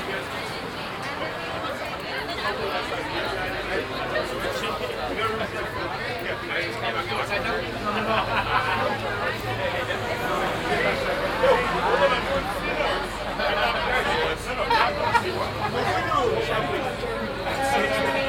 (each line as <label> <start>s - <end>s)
crowd standing in a row in front of a disco 0.0s - 18.2s